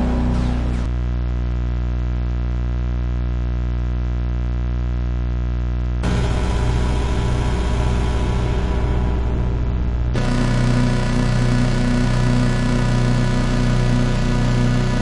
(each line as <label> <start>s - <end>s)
Mysteron Drone 0.0s - 0.9s
Mysteron Drone 6.0s - 15.0s